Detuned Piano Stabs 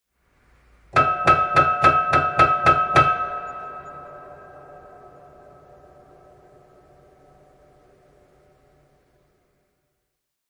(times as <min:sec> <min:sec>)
0:01.0 0:06.8